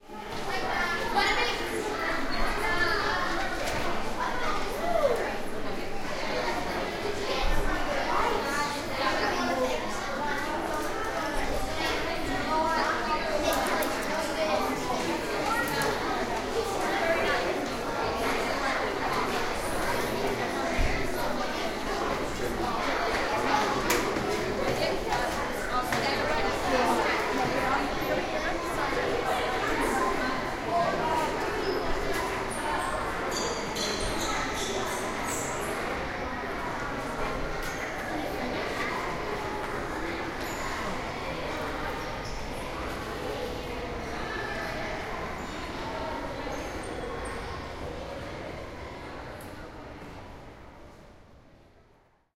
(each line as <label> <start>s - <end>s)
school children 0.0s - 52.0s